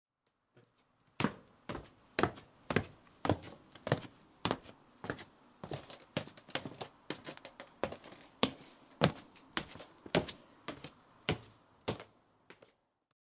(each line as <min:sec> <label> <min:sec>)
0:00.6 Man walking on wooden stairs 0:12.7